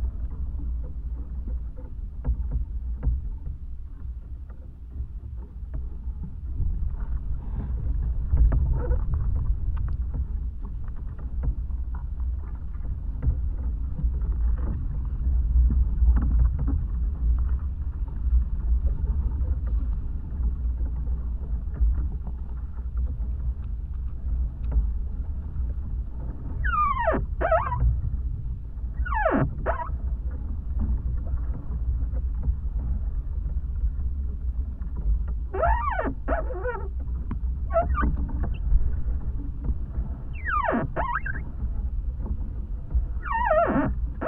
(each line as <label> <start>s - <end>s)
wind and singing tree 0.0s - 44.2s